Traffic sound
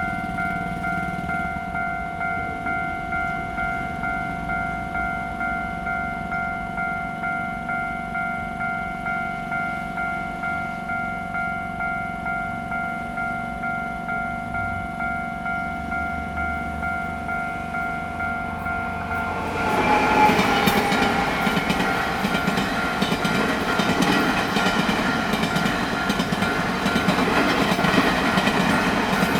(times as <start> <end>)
14.3 29.3